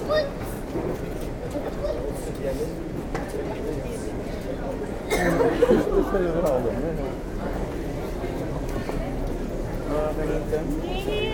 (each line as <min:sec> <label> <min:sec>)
0:00.0 suitcases on the cobblestones 0:11.3